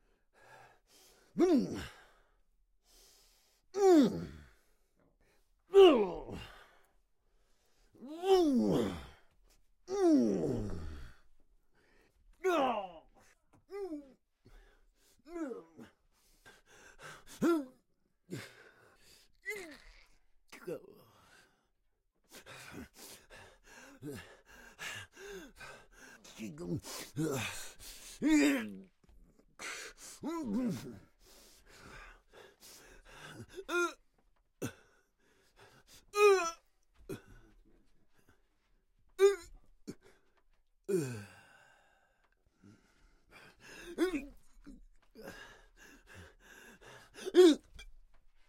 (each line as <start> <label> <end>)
12.4 Fight Reaction 13.1
41.2 angry breath 47.9